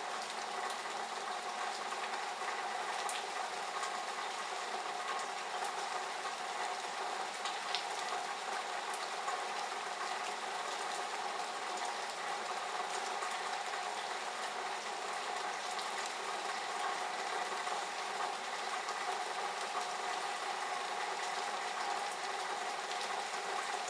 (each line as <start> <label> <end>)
0.0 rain splattering in the spout 23.8